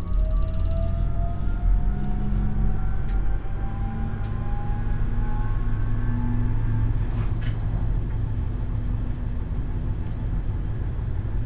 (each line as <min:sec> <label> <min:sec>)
0:00.0 driving in an old east german tram 0:11.4